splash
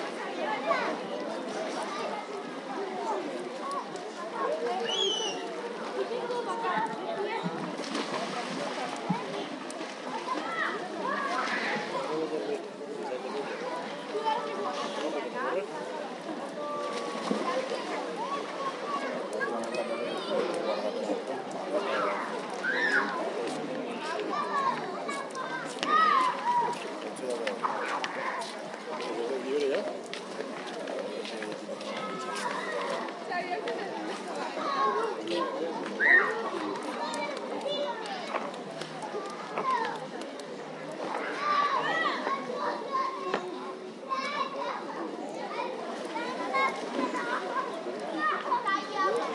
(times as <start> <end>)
7.4 12.1, 16.6 19.5